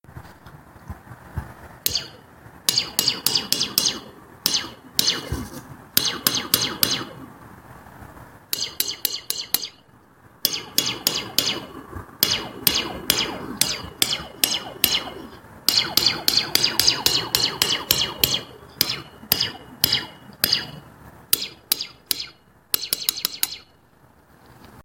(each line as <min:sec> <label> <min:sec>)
0:01.9 hit them with a wrench they make weird laser gun sounds 0:07.3
0:08.6 hit them with a wrench they make weird laser gun sounds 0:09.8
0:10.4 hit them with a wrench they make weird laser gun sounds 0:20.8
0:21.4 hit them with a wrench they make weird laser gun sounds 0:23.7